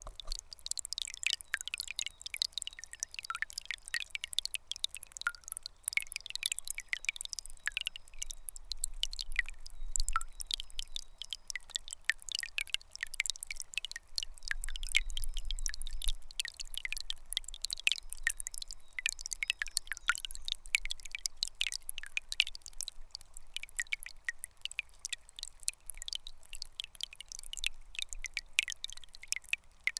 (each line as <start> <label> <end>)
0.0 Tiny Marble Stream 14.4